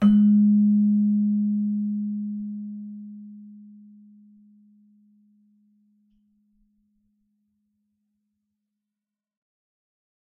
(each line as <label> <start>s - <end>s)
celesta 0.0s - 2.0s